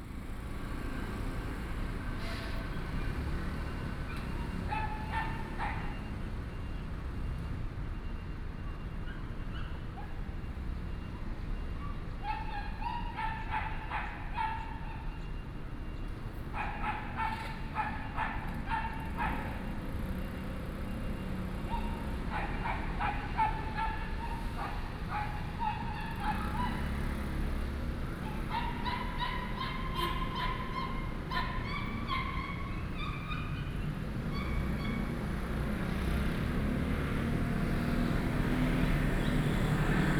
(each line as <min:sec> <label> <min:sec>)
0:00.0 Traffic Sound 0:40.1
0:04.2 Dogs barking 0:06.1
0:12.2 Dogs barking 0:15.2
0:16.5 Dogs barking 0:20.2
0:21.6 Dogs barking 0:35.2